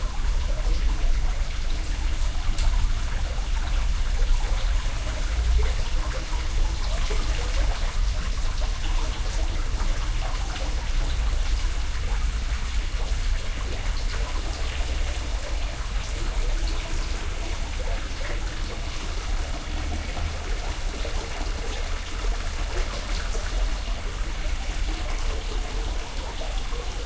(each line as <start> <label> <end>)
0.0 Waterfall 27.0